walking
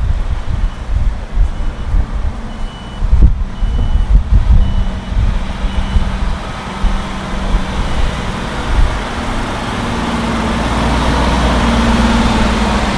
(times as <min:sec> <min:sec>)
0:00.0 0:09.8